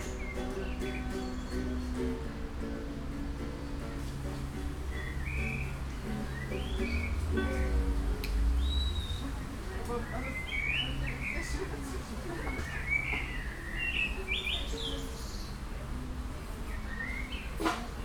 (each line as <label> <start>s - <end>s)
music 0.0s - 12.0s
birds 4.8s - 7.4s
birds 8.6s - 15.7s
birds 16.6s - 17.8s